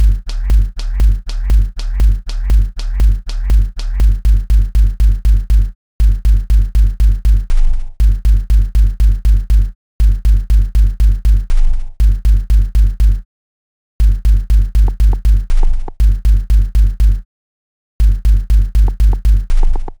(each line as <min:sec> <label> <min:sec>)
0:00.0 hihat 0:07.4